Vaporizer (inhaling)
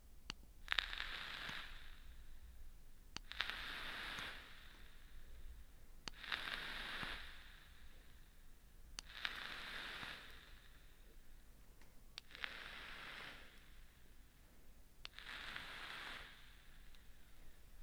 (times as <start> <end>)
0.7 2.1, 3.2 5.4, 6.1 8.3, 9.0 11.1, 12.2 13.9, 15.1 17.1